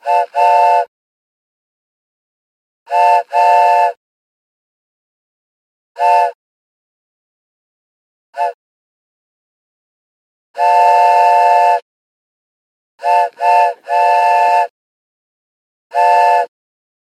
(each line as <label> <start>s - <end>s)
wooden train whistle toy 0.0s - 0.9s
wooden train whistle toy 2.9s - 4.0s
wooden train whistle toy 6.0s - 6.4s
wooden train whistle toy 8.4s - 8.6s
wooden train whistle toy 10.6s - 11.8s
wooden train whistle toy 13.0s - 14.7s
wooden train whistle toy 15.9s - 16.5s